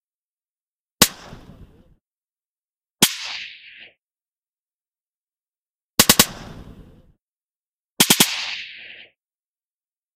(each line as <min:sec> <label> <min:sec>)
0:06.0 Silenced sniper rifle shots 0:06.9
0:08.0 Silenced sniper rifle shots 0:09.0